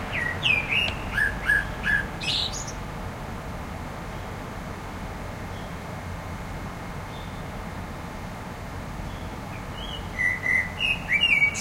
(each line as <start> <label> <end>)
0.0 Blackbird singing 2.8
0.0 distant traffic rumble 11.6
9.1 Blackbird singing 11.6